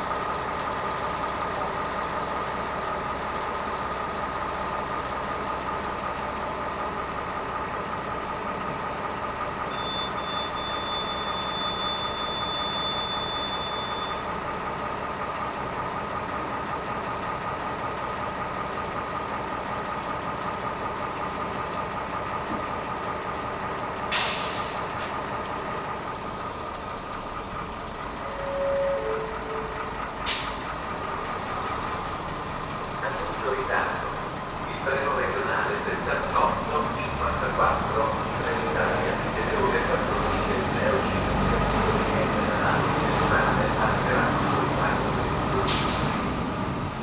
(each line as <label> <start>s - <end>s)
train announcement 24.1s - 31.2s
train announcement 32.9s - 45.9s